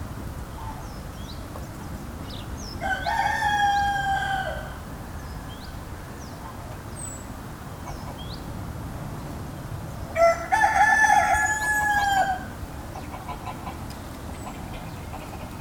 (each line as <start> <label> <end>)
2.8 rooster 4.9
7.8 Chicken 8.4
10.2 rooster 13.8
10.2 Chicken 15.6